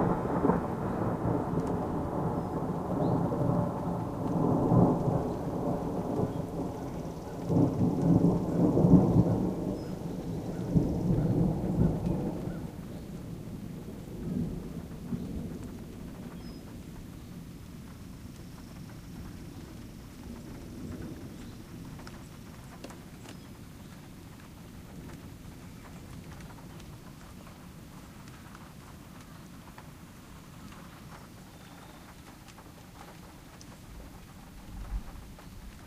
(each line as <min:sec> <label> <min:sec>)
0:00.0 claps of thunder 0:23.0
0:32.0 claps of thunder 0:35.8